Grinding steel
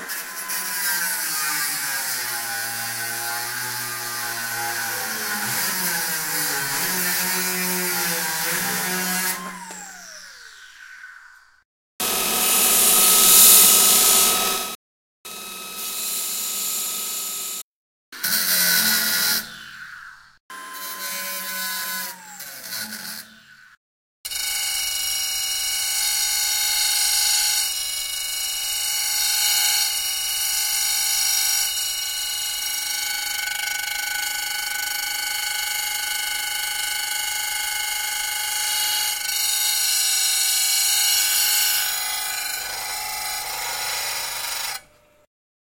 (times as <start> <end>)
0.0 10.7, 29.1 45.1